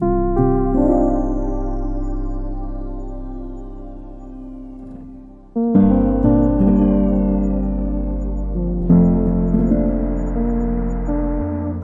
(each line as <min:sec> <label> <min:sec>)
0:00.0 piano 0:11.8
0:00.0 sub 0:11.8